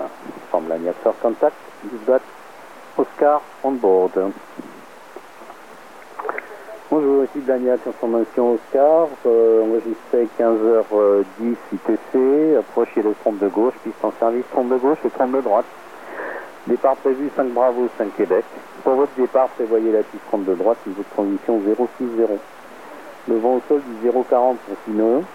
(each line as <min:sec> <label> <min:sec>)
0:03.0 radio wave scanner 0:25.3